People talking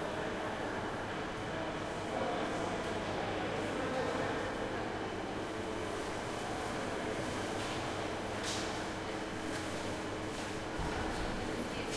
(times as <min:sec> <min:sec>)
0:10.8 0:11.9